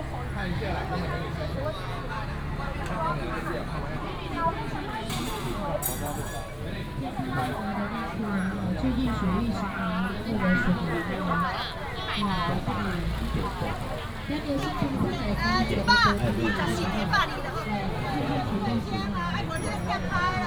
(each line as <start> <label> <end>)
0.0 Walking in the traditional market 20.4